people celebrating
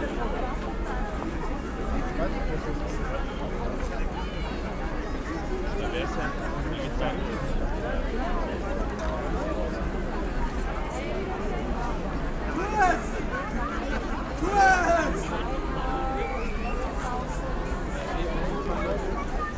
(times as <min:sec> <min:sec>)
0:12.5 0:13.4, 0:14.3 0:15.5